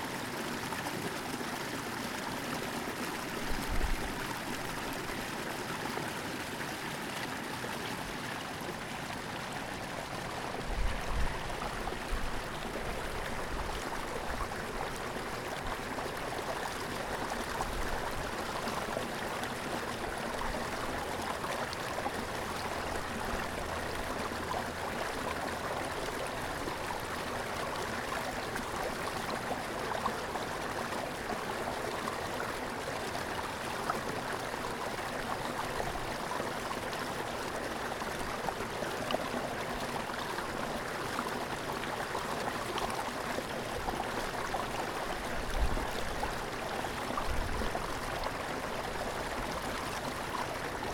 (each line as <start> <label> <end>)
0.0 Water moving over rocks and submerged PVC pipe 50.9